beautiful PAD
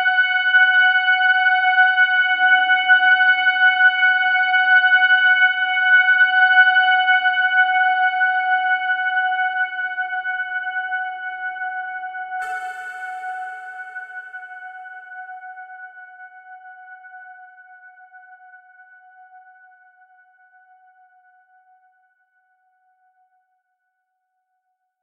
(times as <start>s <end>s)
12.4s 15.6s